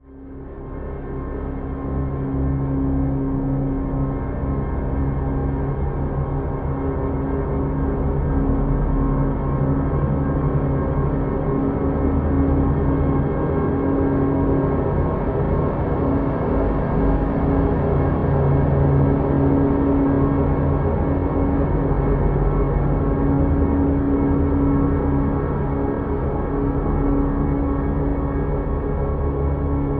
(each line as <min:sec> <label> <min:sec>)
0:00.0 dark, evolving drone 0:29.9